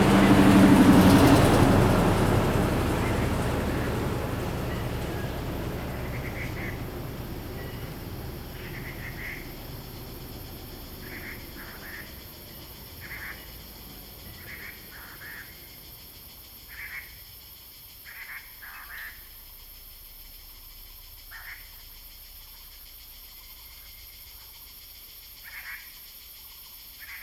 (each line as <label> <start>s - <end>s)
Bird sounds 0.0s - 17.2s
Cicadas cry 0.0s - 27.2s